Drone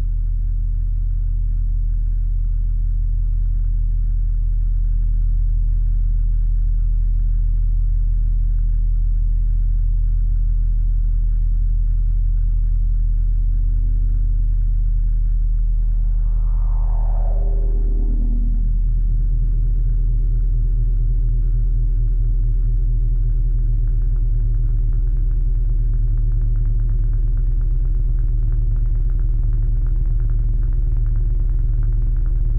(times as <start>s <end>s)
15.5s 20.2s